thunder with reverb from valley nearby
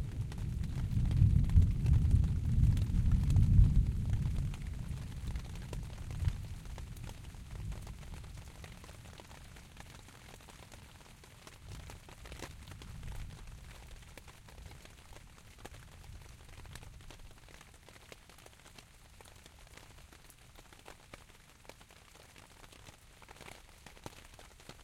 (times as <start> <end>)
0.2 6.6